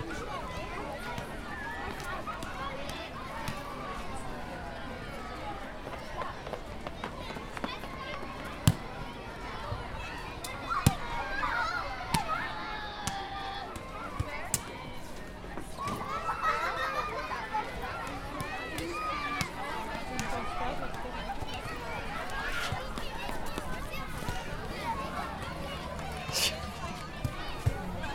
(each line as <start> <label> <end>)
0.0 parents and their playing children 28.1